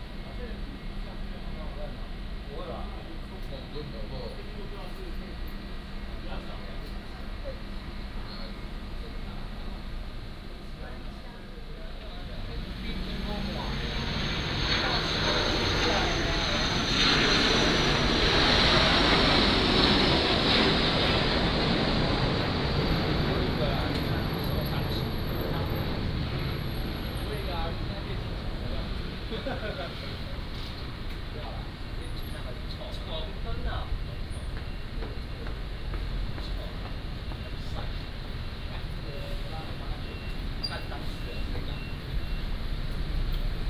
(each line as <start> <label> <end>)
12.2 Traffic Sound 43.6